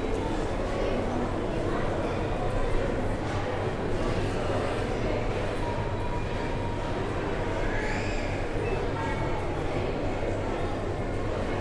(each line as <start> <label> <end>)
0.0 din of many people in a large, reflective space 11.6